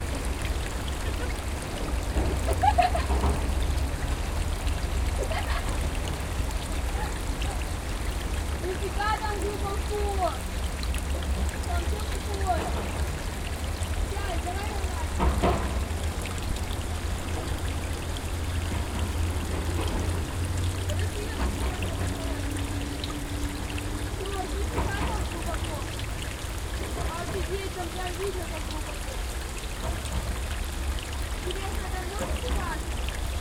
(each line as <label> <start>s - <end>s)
water flow on roll 0.0s - 33.4s
Voices and laugh of two girls 2.3s - 3.5s
Voices and laugh of two girls 5.1s - 7.9s